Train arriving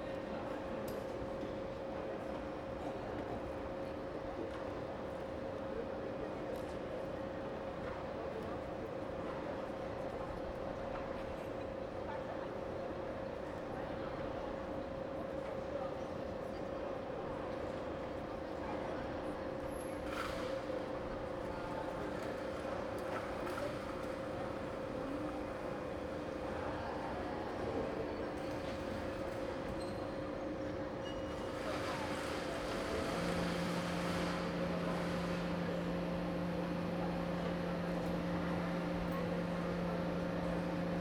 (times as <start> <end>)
30.3 41.0